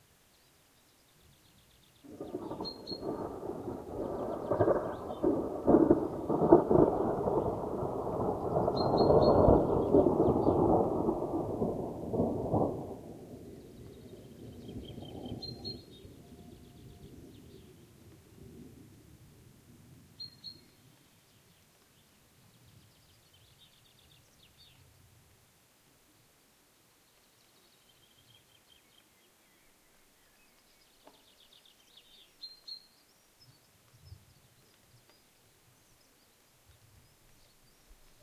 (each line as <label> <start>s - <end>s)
rain 0.0s - 38.2s
birds 0.3s - 7.6s
Thunder 2.1s - 17.6s
birds 8.4s - 10.8s
birds 13.4s - 17.9s